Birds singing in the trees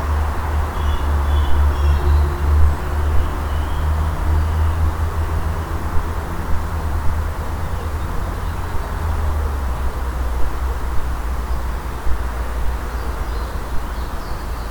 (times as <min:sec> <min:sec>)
0:00.0 0:05.8, 0:11.4 0:14.7